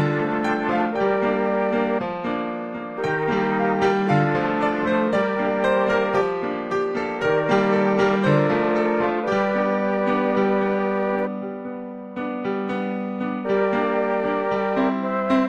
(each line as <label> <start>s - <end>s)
mellotron 0.0s - 15.4s
piano 0.0s - 15.4s